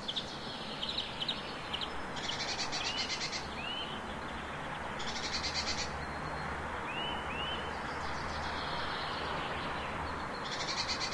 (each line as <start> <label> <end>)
0.0 several birds 11.1
0.0 street-noice 11.1